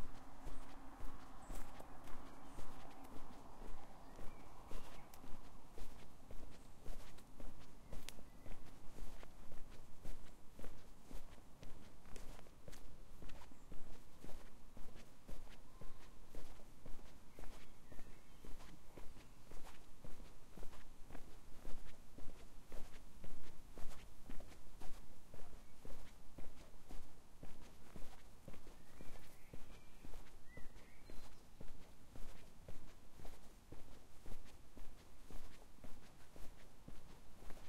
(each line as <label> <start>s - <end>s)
Birds 0.0s - 37.6s
Walking on tarmac road 0.0s - 37.6s